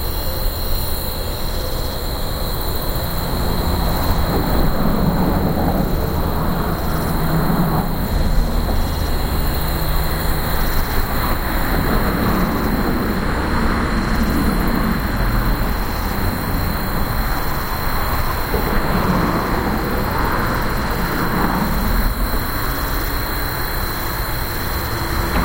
crickets 0:00.0 - 0:25.4
cars 0:01.9 - 0:25.4

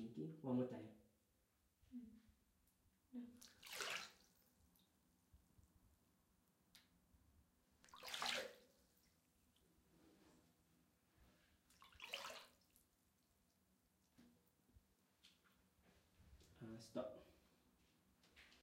Soft Waves 0:03.4 - 0:04.5

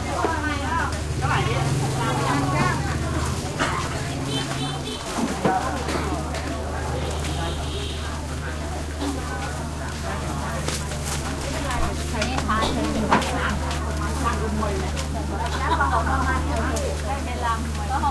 voices 0:00.0 - 0:18.1
passing motorcycles 0:00.0 - 0:13.6
plastic bags 0:00.2 - 0:18.1

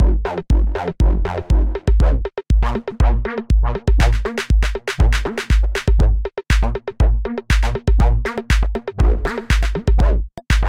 beat that contains vocal-like formants 0:00.0 - 0:10.6

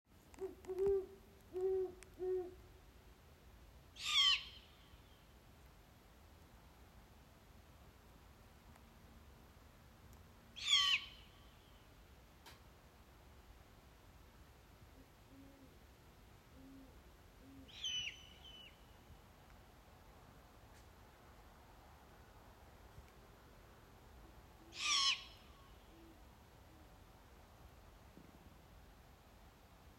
Barn owls 0:00.3 - 0:02.6
Barn owls 0:04.0 - 0:04.8
Barn owls 0:10.6 - 0:11.3
Barn owls 0:15.0 - 0:15.8
Barn owls 0:16.5 - 0:18.8
Barn owls 0:24.2 - 0:27.0

